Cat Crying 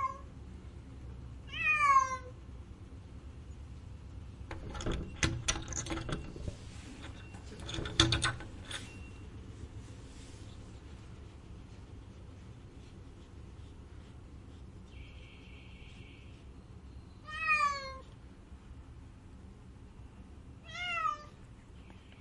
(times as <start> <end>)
0.0 0.3, 1.5 2.3, 17.2 18.1, 20.6 21.4